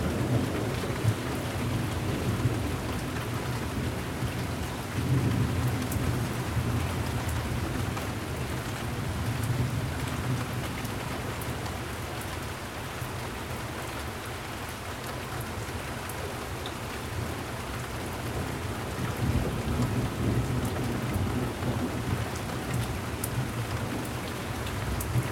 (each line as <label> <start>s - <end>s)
Rolling thunderstorms 0.0s - 7.9s
rainstorm 0.0s - 25.3s
Rolling thunderstorms 18.2s - 25.3s